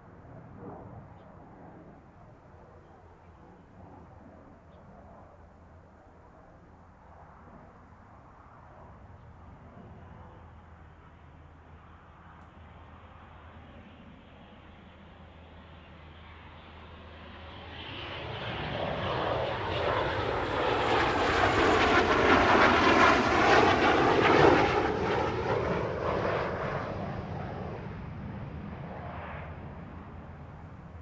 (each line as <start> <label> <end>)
9.7 Fighter flight traveling through 31.0